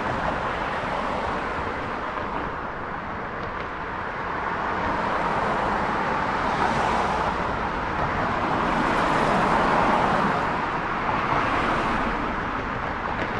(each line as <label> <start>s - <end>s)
Traffic over Bridge 0.0s - 13.3s